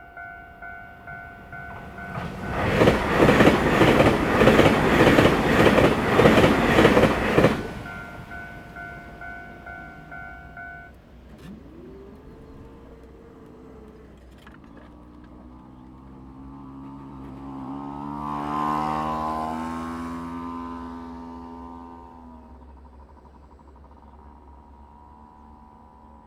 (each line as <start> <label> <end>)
0.0 Train traveling through 14.4